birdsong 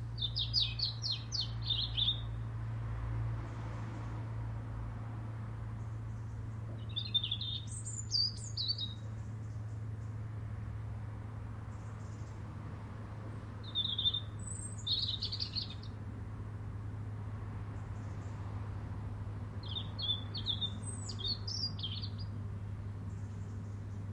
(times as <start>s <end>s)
0.0s 2.5s, 5.7s 10.3s, 11.6s 12.5s, 13.2s 16.1s, 17.6s 24.1s